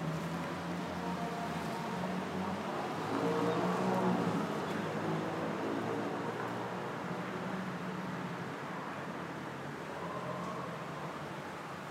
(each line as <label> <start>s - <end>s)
traffic 0.0s - 11.9s